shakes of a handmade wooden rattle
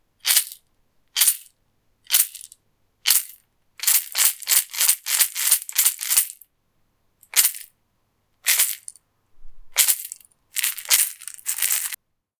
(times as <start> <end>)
0.2 1.5, 2.1 6.5, 7.2 7.7, 8.4 9.0, 9.6 12.0